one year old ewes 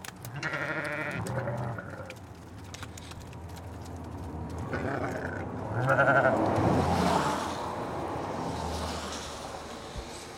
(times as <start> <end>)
0.2 2.3